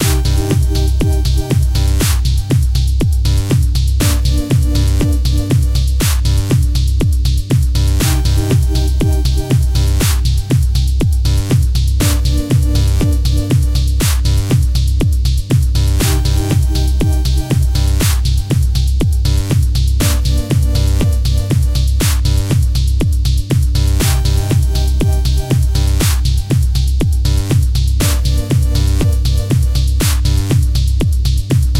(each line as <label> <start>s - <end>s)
Synth 0.0s - 2.0s
bass 0.0s - 31.7s
kick 2.0s - 2.7s
kick 6.0s - 6.2s
kick 10.0s - 10.7s
kick 18.0s - 18.6s
kick 22.0s - 22.2s
kick 26.0s - 26.7s
kick 30.0s - 30.2s